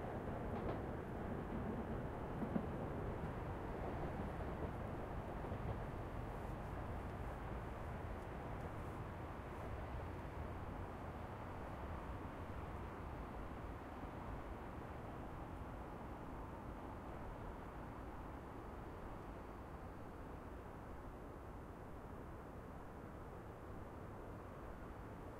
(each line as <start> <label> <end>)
0.0 passenger train 25.3